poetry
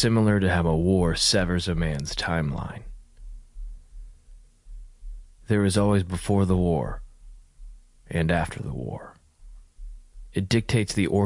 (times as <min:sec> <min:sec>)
0:00.0 0:03.0, 0:05.4 0:07.1, 0:08.1 0:09.2, 0:10.3 0:11.2